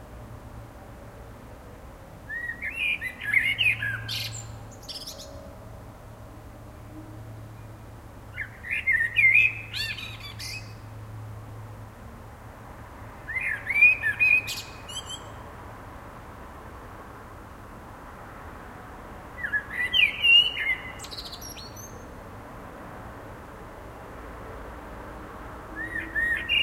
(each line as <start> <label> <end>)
0.0 cars 26.6
2.3 blackbird singing 5.4
8.4 blackbird singing 10.8
13.3 blackbird singing 15.4
19.4 blackbird singing 22.1
25.8 blackbird singing 26.6